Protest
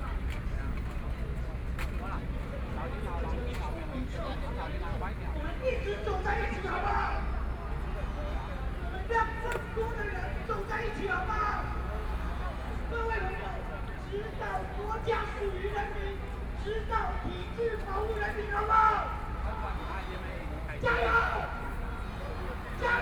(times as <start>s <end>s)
8.7s 23.0s